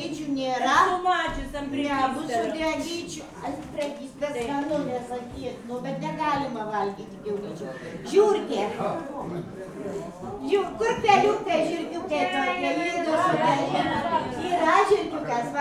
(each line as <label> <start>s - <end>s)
drunken crowd 7.6s - 15.6s